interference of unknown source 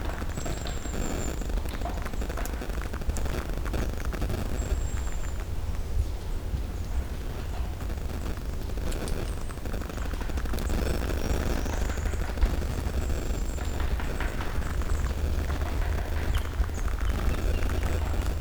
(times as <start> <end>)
7.2 18.4